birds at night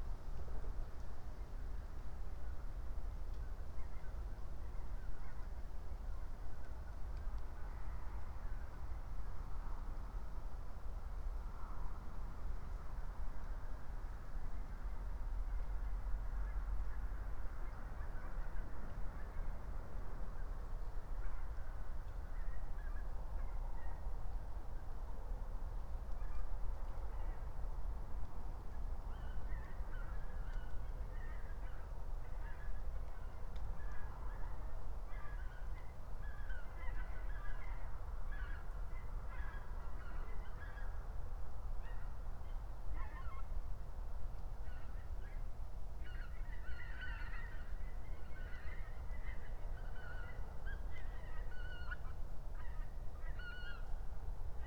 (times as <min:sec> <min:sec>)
0:29.0 0:41.0, 0:44.6 0:54.0